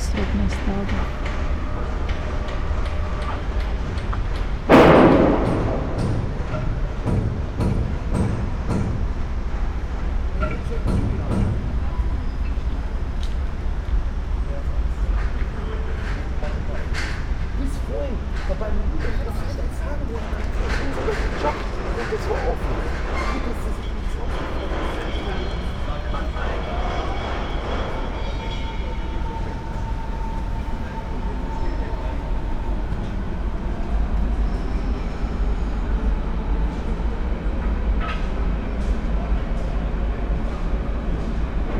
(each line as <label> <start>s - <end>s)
spoken words 0.0s - 1.1s
construction works 0.0s - 41.7s